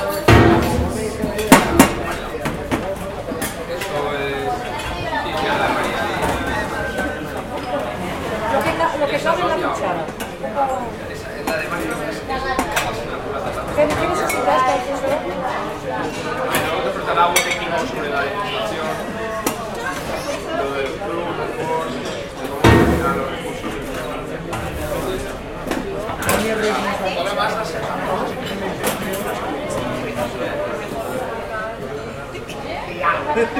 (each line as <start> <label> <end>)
0.0 people 33.5